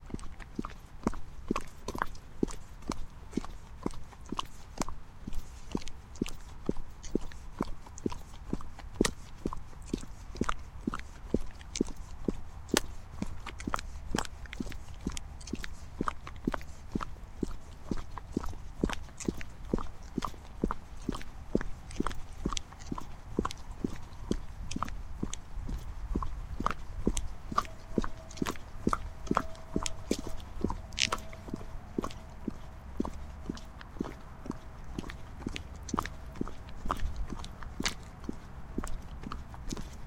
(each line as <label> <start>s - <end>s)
footsteps on the street 0.0s - 40.0s